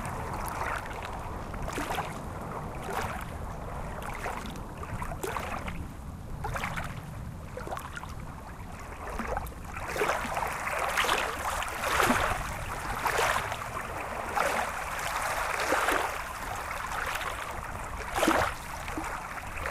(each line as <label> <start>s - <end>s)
Lake water 0.0s - 19.7s